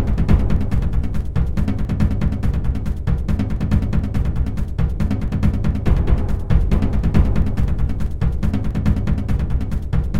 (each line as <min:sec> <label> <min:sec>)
0:00.0 bassdrum acoustic 0:10.1